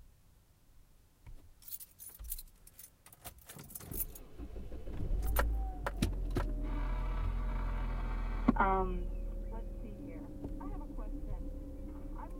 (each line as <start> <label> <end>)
3.8 Starting up the Nissan 12.3